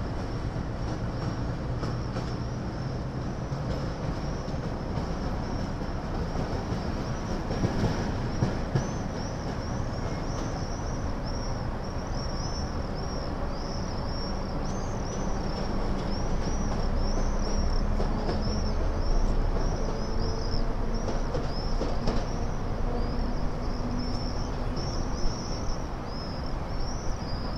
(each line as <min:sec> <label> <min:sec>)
0:00.0 local trains are departure 0:27.5
0:00.0 locomotive 0:27.5
0:18.5 flock of swifts 0:27.5